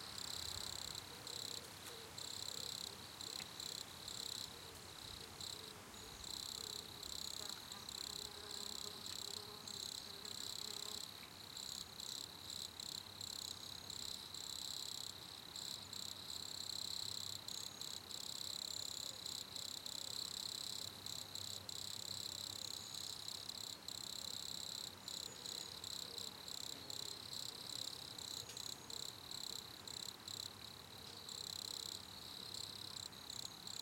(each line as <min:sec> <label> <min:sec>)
0:00.0 Crickets 0:33.8